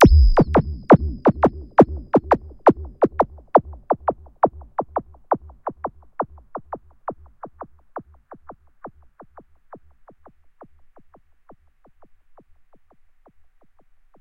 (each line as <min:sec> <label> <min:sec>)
0:00.0 long dubby stab 0:04.1